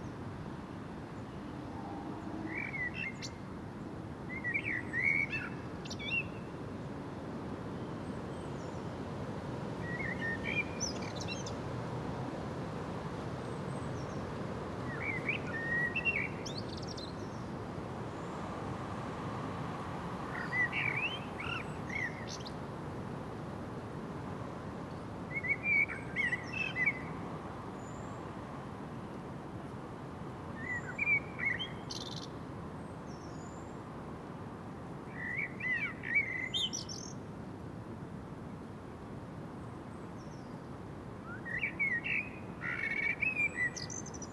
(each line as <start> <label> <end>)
0.0 constant wind in the populus and other trees 44.3
0.0 omnipresent distant traffic noise 44.3